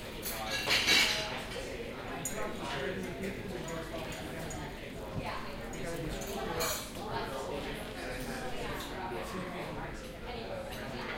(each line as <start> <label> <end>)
0.2 people chatting 11.1